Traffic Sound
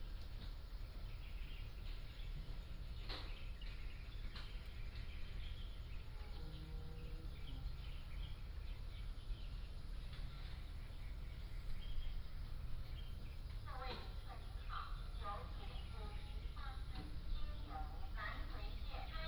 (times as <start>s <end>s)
10.0s 19.2s